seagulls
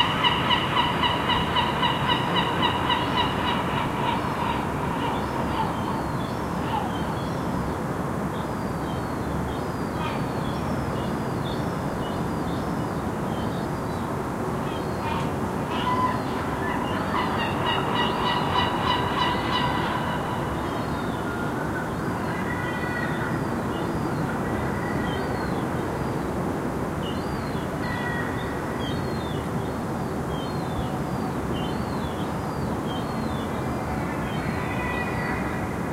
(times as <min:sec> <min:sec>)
0:14.7 0:25.6, 0:33.2 0:35.8